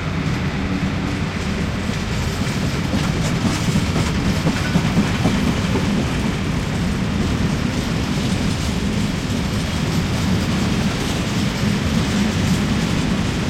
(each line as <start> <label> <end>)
0.0 cargo train departure 13.4